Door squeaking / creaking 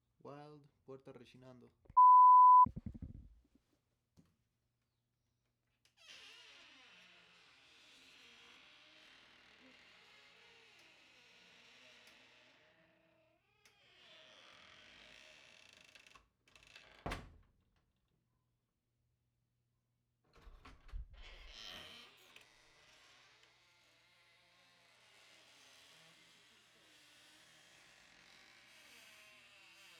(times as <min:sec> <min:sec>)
0:06.0 0:12.6, 0:21.2 0:22.1